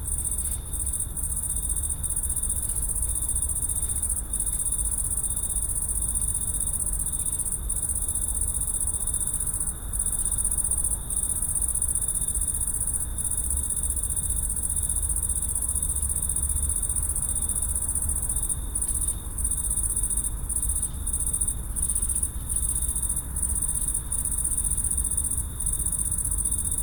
august crickets 0:00.0 - 0:26.8

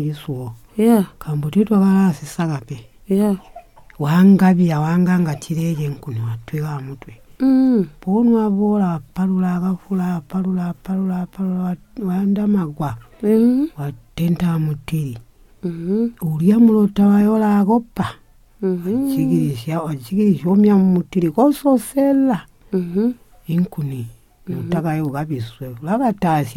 grandmother lists some of the bush fruits 0:00.0 - 0:03.4
grandmother lists some of the bush fruits 0:04.0 - 0:26.5
asks her grandmother 0:18.6 - 0:22.0

